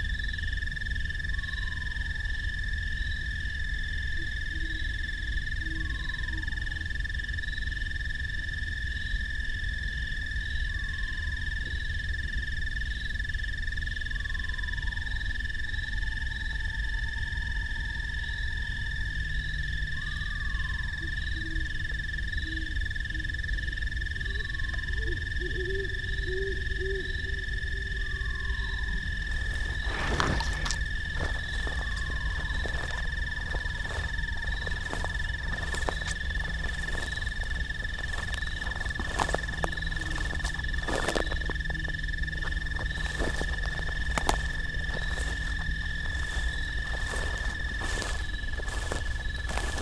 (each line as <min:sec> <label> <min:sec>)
0:14.1 great horned owls 0:49.8